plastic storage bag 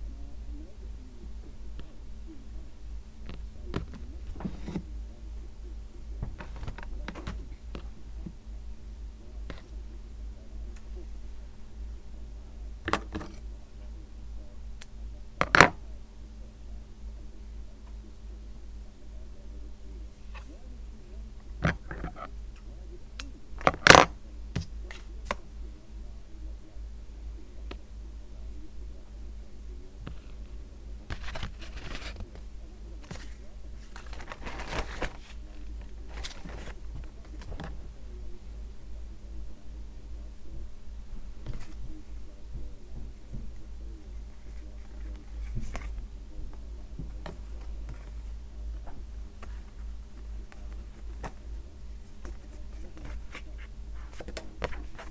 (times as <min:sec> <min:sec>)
0:33.1 0:37.8